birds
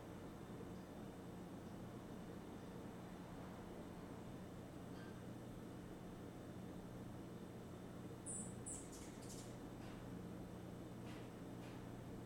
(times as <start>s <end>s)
8.2s 10.0s